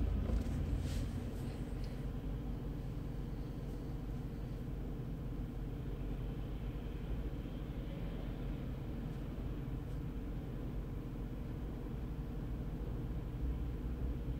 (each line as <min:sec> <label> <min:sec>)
0:00.0 Driving 0:02.1